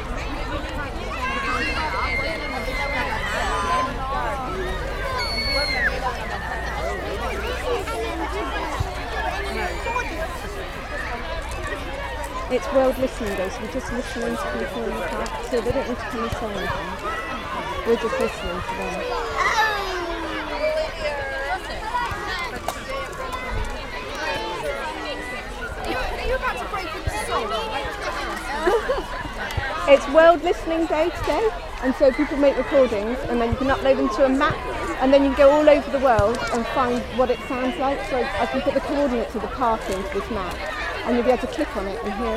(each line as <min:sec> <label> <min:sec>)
0:00.0 Children in park 0:42.3